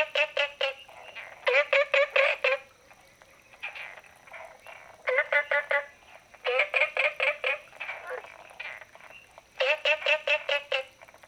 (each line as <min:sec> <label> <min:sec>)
0:00.0 Frogs chirping 0:11.2